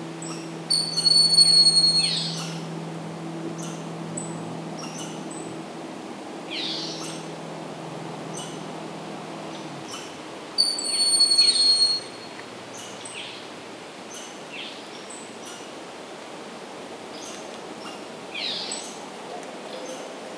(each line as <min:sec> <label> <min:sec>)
0:00.0 distant motorboats 0:14.5
0:02.0 passing car 0:10.5